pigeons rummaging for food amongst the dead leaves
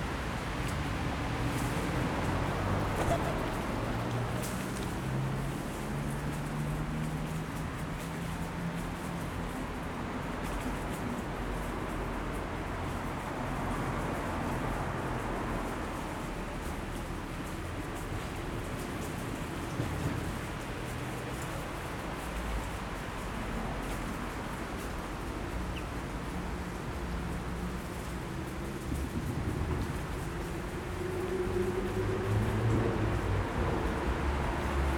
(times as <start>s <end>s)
1.4s 6.7s